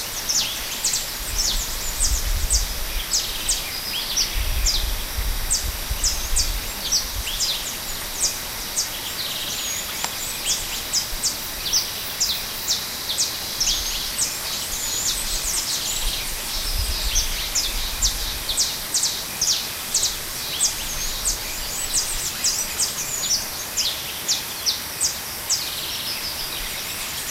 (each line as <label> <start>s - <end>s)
cicadas 0.0s - 27.3s
little river in background 0.0s - 27.3s